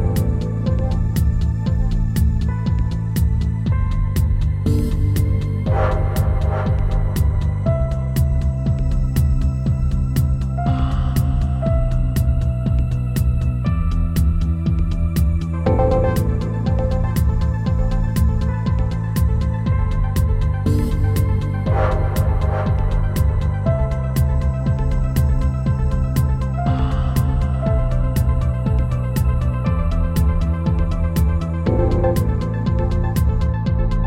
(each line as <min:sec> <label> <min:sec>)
0:00.0 Bass 0:34.0
0:00.0 piano 0:34.0
0:00.0 synths 0:34.0